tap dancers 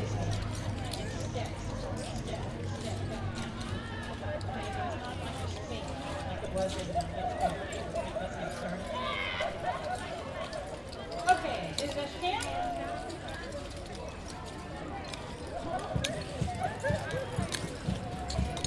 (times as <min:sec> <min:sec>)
0:16.0 0:18.6